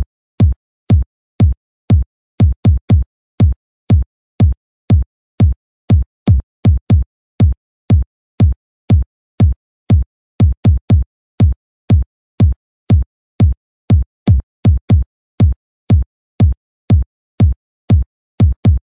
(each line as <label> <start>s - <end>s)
KICK 14.3s - 18.8s